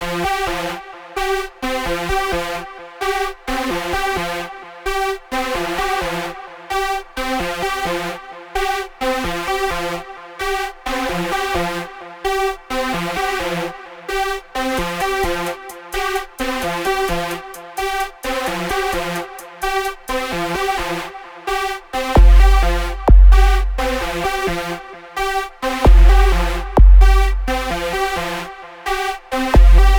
Bass 22.1 - 24.7
Bass 25.8 - 28.5
Melody 25.9 - 27.9
Bass 29.4 - 29.9
Melody 29.6 - 29.9
sound effects 29.6 - 29.9

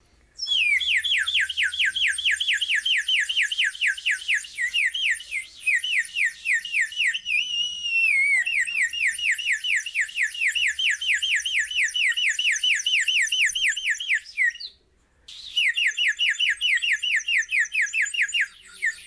Bird 0.4 - 19.0

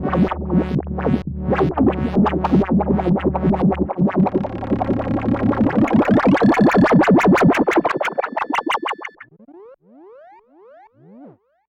Analog Bass 0.0 - 9.3

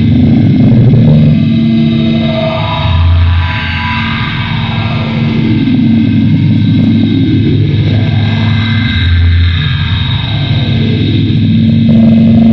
distorted noise 0.0 - 12.5

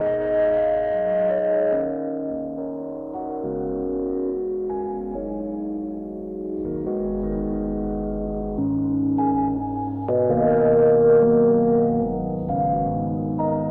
Rhodes 0.0 - 13.7

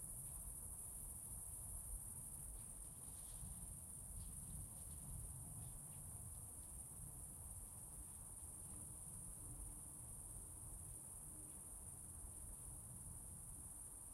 crickets 0.0 - 14.1

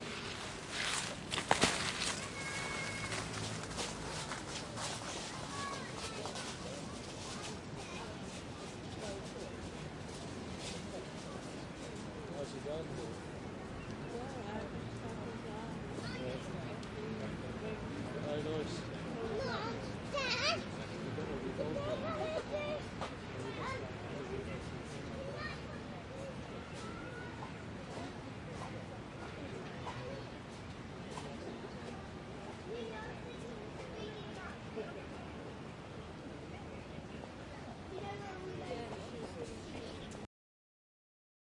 People walking on leaves 0.0 - 12.2

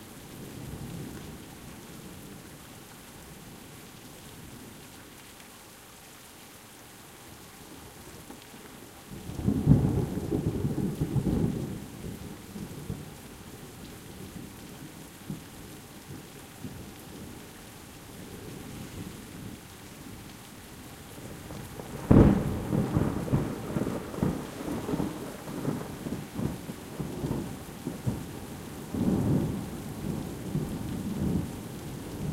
rolling thunder 21.7 - 32.3

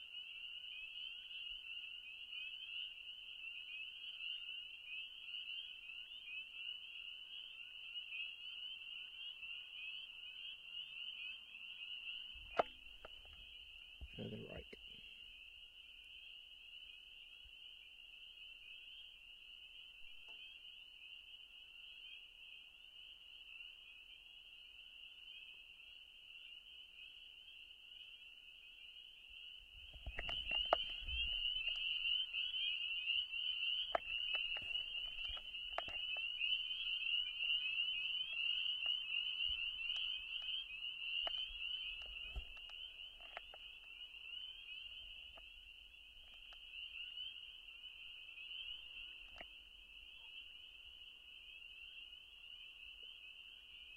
Frogs calling 0.0 - 53.9

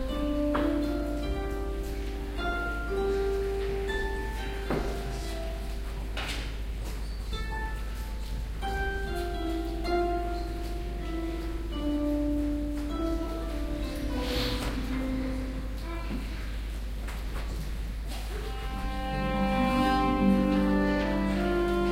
Harp 0.0 - 16.9
traditional folk galician instrument called Zanfona 7.3 - 15.8
Harp 18.3 - 21.9
traditional folk galician instrument called Zanfona 18.5 - 21.9

